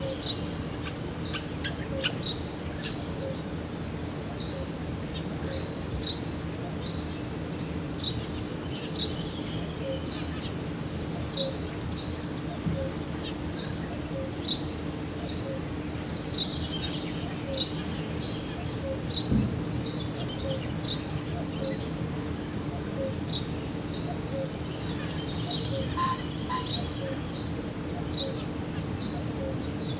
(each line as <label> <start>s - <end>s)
crickets 0.0s - 29.9s
pheasants 9.2s - 29.9s
cuckoos 12.4s - 15.8s
cuckoos 17.2s - 19.4s
cuckoos 20.2s - 29.9s
frogs 22.7s - 29.7s
crows and magpies 24.1s - 28.4s